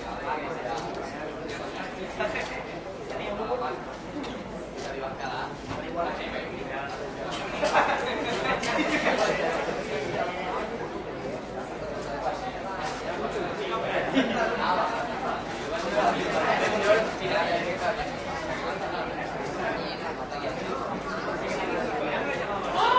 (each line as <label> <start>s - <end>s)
people waiting for the train 0.0s - 22.9s